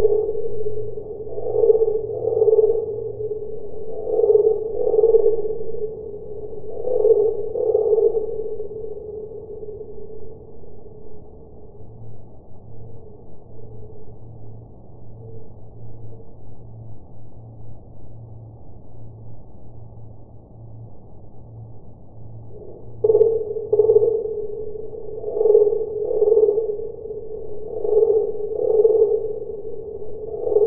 0.0s cricket sound 30.6s

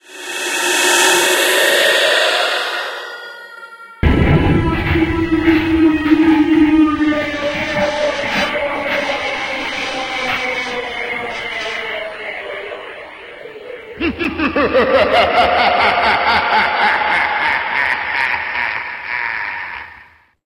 0.0s scream 20.3s

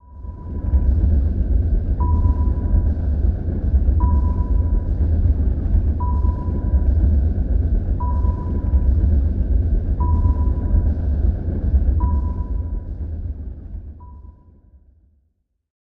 0.0s submarine engine 14.8s
0.0s fx witch look like a sonar 14.9s

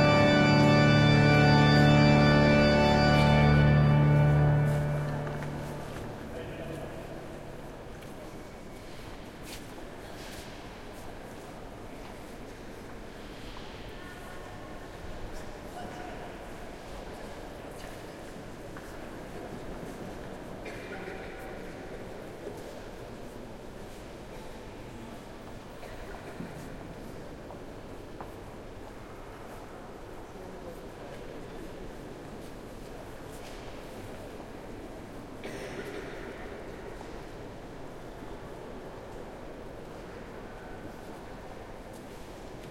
0.0s mass 6.5s

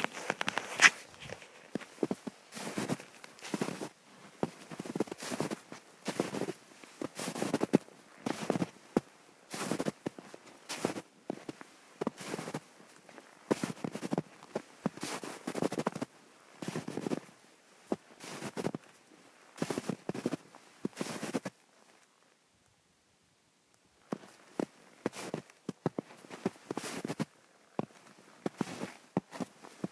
0.0s footsteps 8.6s

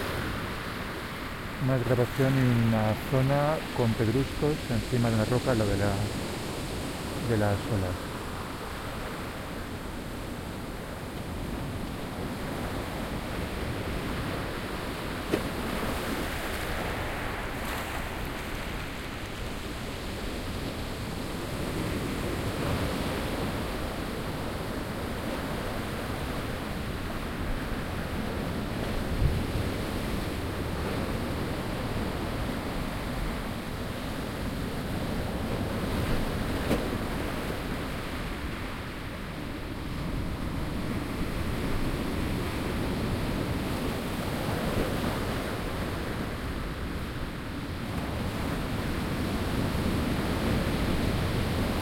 0.0s quiet to moderate waves on rock beach with pebbles 51.8s
0.0s wind 51.8s

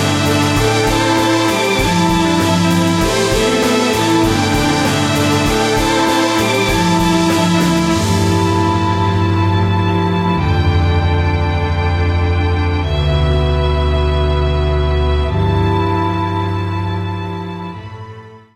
0.0s drum 11.0s
0.0s guitar 17.8s
0.0s bass 18.5s
0.0s strings 18.5s
0.0s violin 18.5s

